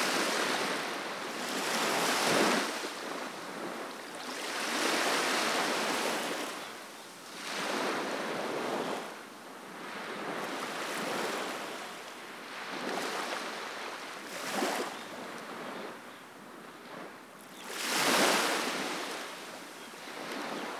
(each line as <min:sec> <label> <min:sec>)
0:00.0 Waves lapping Segura Beach 0:06.6
0:17.7 Waves lapping Segura Beach 0:20.7